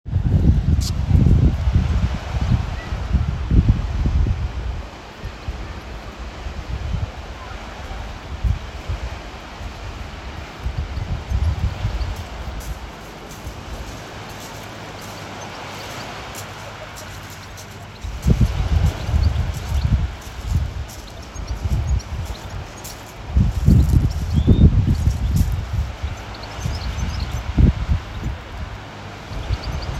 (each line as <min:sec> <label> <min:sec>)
0:00.1 waves 0:29.9